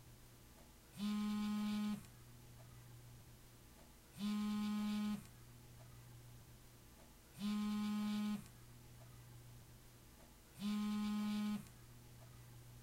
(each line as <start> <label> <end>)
1.0 cell phone vibrating 2.1
4.2 cell phone vibrating 5.3
7.4 cell phone vibrating 8.5
10.6 cell phone vibrating 11.7